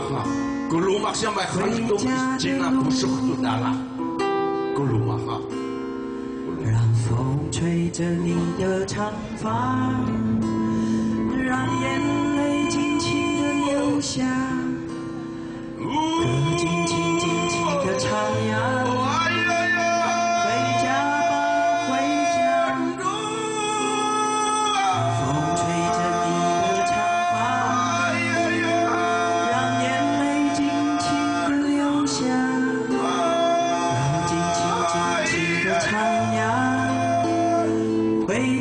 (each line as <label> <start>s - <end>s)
Aboriginal singer 0.0s - 5.5s
Aboriginal singer 6.4s - 38.6s
Protest 8.6s - 38.6s